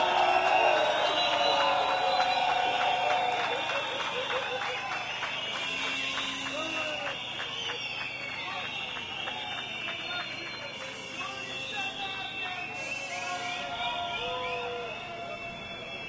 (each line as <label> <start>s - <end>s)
people 0.0s - 16.0s
whistle 0.0s - 16.0s